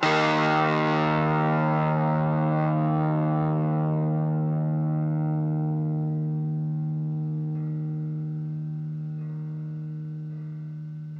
0.0s guitar power chords 11.1s

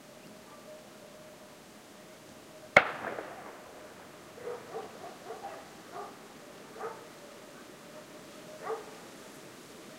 2.8s Single gun-shot 3.6s
4.4s barking dogs 9.0s

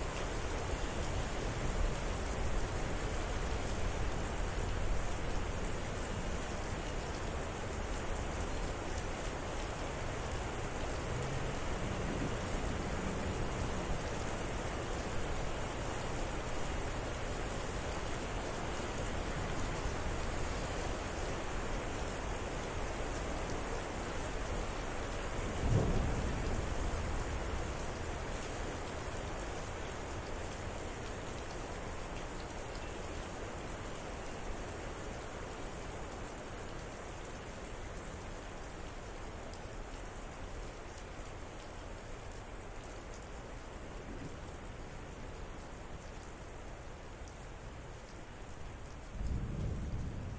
0.0s quickly increasing rain 50.3s
25.5s extraordinarily loud cracks of lightning and booming thunder 27.6s
49.1s extraordinarily loud cracks of lightning and booming thunder 50.3s

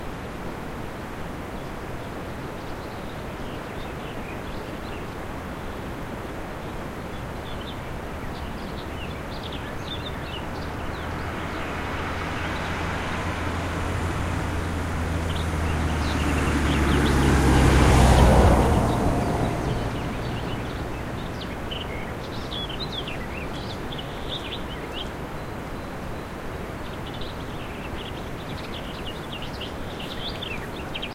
0.0s river 31.1s
1.4s birds chirping 31.1s
7.5s car passing on a dirt road 25.9s

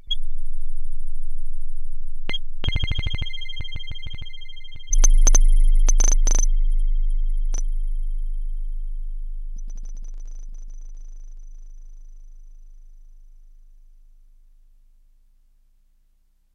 2.7s weird beeps 6.7s
5.0s clicks 6.5s

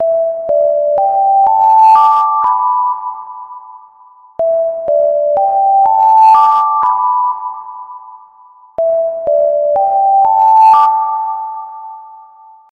0.0s melody 12.7s

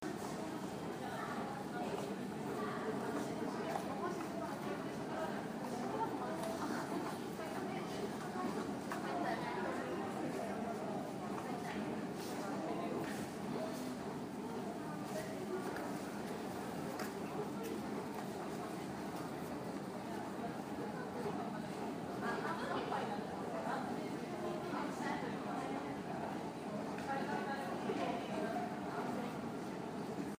0.0s train 9.2s
9.8s train 22.2s

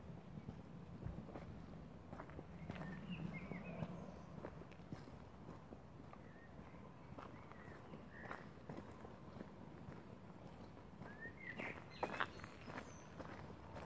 0.0s walking down a gravelroad 13.8s
2.6s blackbirds singing 4.3s
11.0s blackbirds singing 13.3s

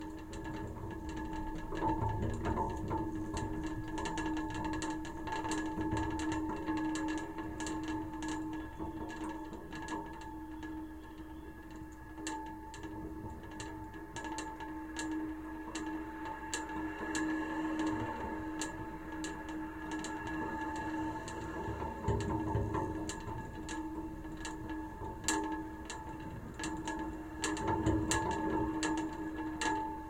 0.0s wind rattling an attached sign 30.0s

